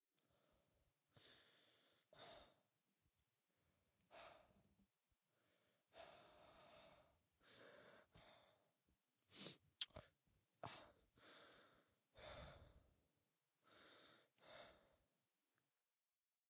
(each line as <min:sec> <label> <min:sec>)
0:00.2 Rough Breathing 0:02.7
0:05.4 Rough Breathing 0:08.7
0:10.6 Rough Breathing 0:12.9
0:13.6 Rough Breathing 0:15.0